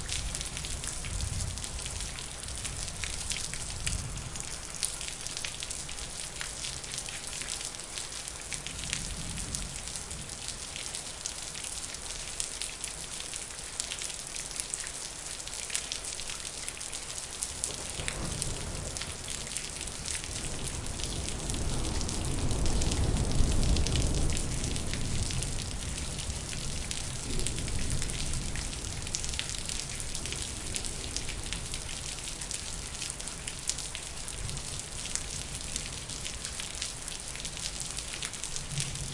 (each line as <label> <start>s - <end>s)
rain 0.0s - 39.1s
thunder 17.7s - 31.8s
thunder 38.7s - 39.1s